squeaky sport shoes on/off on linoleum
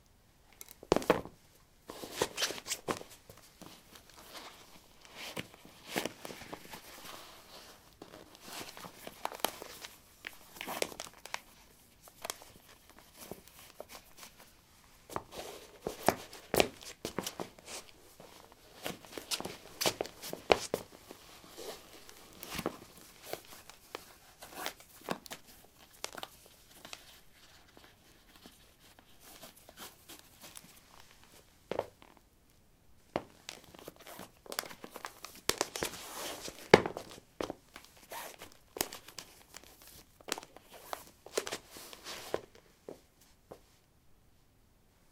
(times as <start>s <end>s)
33.2s 39.7s